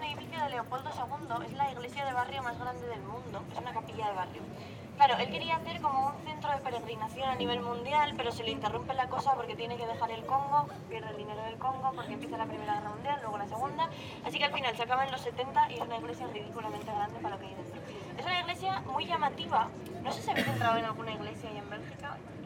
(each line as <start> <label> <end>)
0.0 tourist guide in spanish 22.4